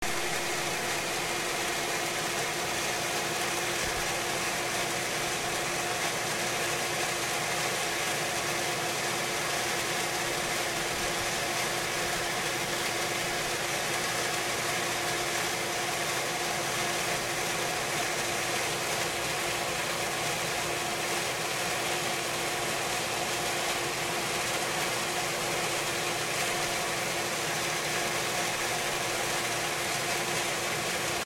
Pool Pump 0:00.0 - 0:31.2

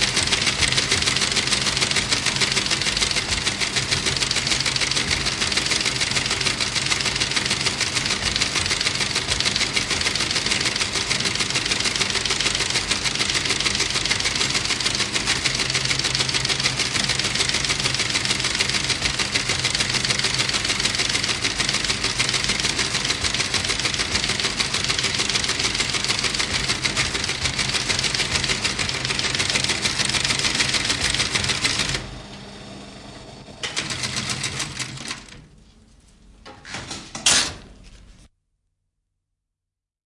teleprinter 0:00.0 - 0:35.4

